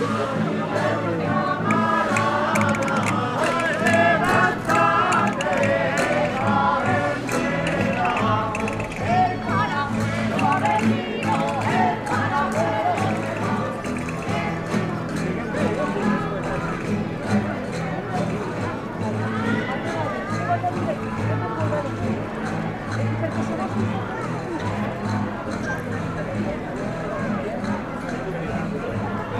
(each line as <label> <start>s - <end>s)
cantadors de jotes 0.0s - 29.3s
rondalla 0.0s - 29.3s